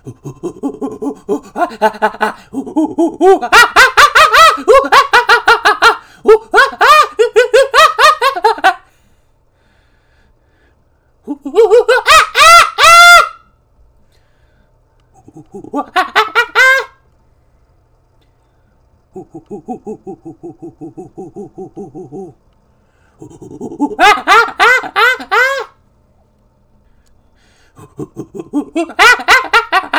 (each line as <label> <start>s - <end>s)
monkey chattering 0.0s - 5.0s
monkey chattering 15.2s - 16.8s
monkey chattering 19.2s - 22.4s
monkey chattering 23.2s - 25.7s
monkey chattering 27.8s - 29.9s